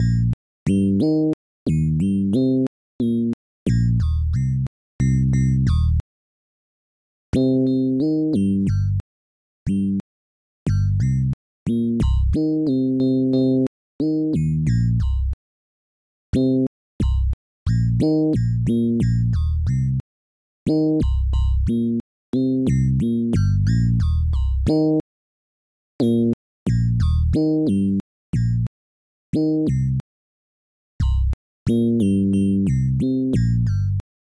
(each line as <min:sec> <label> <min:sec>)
0:00.0 Bass Line 0:06.0
0:07.4 Bass Line 0:09.0
0:10.7 Bass Line 0:15.4
0:16.4 Bass Line 0:20.0
0:20.7 Bass Line 0:25.0
0:26.0 Bass Line 0:28.7
0:31.0 Bass Line 0:34.0